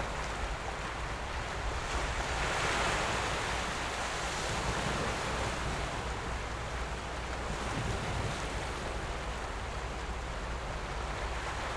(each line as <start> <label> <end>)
0.0 waves 11.7